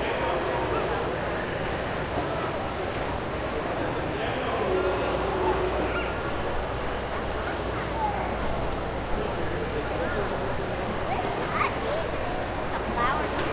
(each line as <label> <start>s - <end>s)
lots of people eating 0.0s - 13.5s